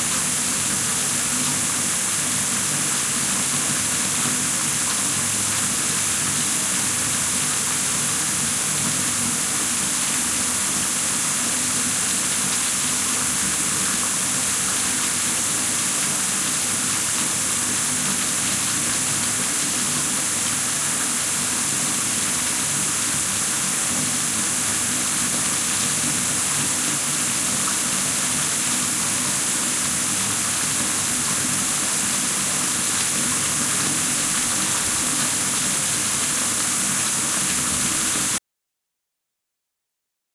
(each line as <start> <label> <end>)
0.0 Water running down the bath tub 38.4